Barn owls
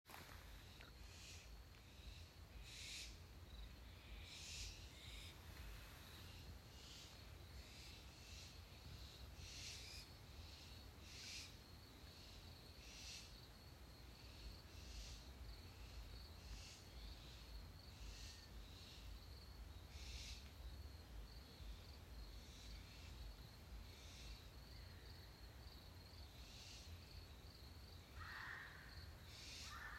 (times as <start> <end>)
0.6 3.2, 3.8 11.6, 12.2 13.4, 19.9 20.6, 28.1 29.9